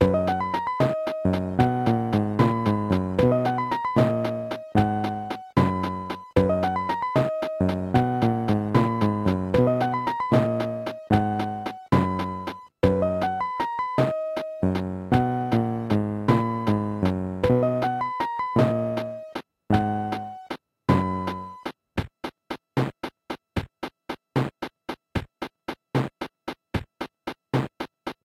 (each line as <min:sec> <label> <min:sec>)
0:00.0 accompaniment section from a cheap kids keyboard 0:21.8